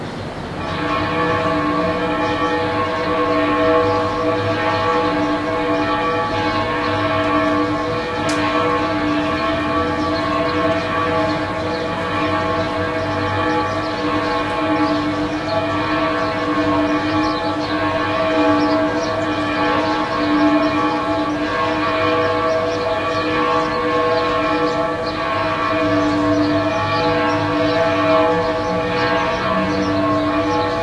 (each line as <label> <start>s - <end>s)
traffic noise 0.0s - 30.8s
chirping birds 0.0s - 30.8s
Pealing bells 0.4s - 30.8s